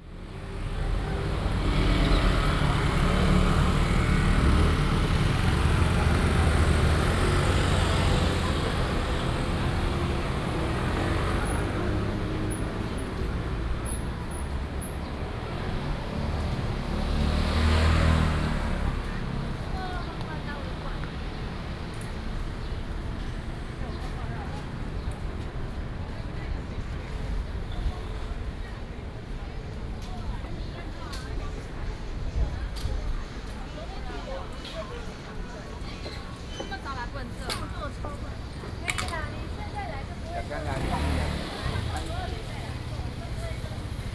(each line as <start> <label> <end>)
0.0 Traffic Sound 44.1